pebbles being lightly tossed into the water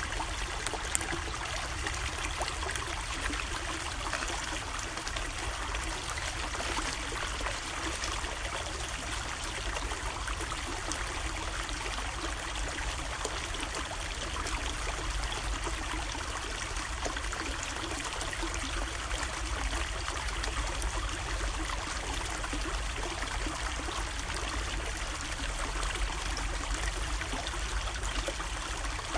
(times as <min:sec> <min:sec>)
0:02.3 0:05.3